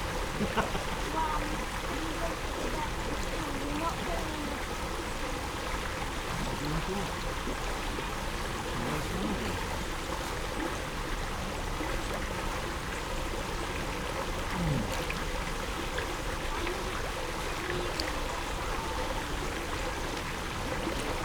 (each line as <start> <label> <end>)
0.0 outflows of a large man made pond 21.2
0.0 water welling up from the middle of the pool 21.2